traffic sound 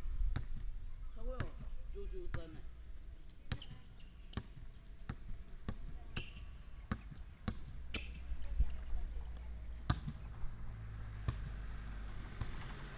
7.7s 12.9s

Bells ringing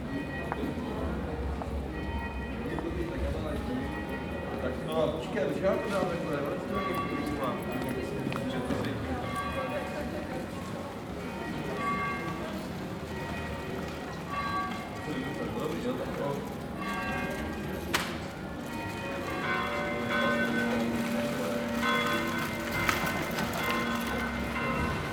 11.2s 25.1s

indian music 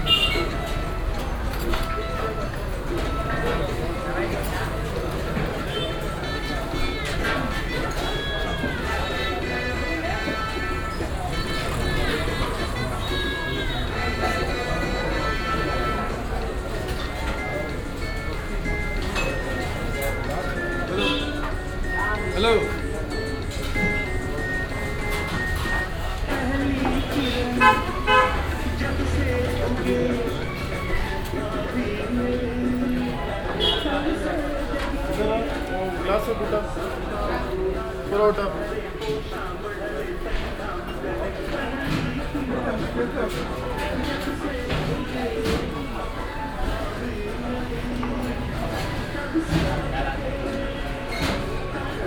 0.0s 39.3s

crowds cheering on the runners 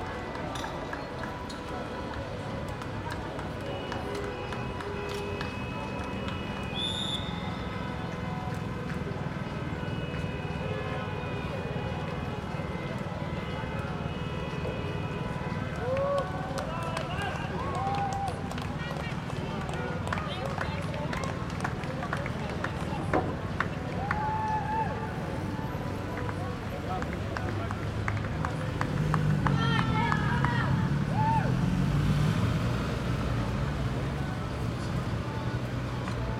10.1s 34.9s

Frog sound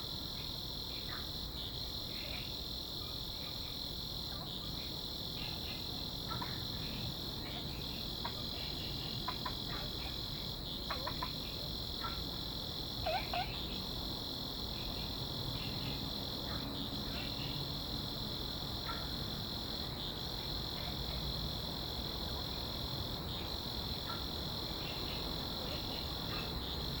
8.2s 10.1s, 10.8s 12.2s, 13.0s 13.8s

